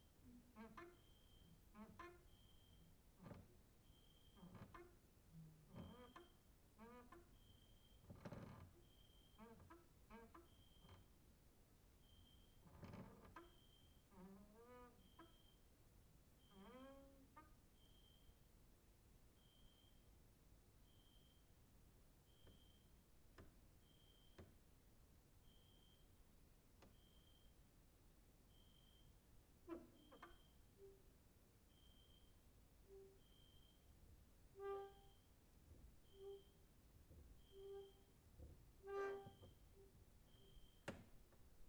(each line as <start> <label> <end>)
4.2 creaking with wooden doors 11.1
29.7 creaking with wooden doors 31.0
36.0 creaking with wooden doors 41.2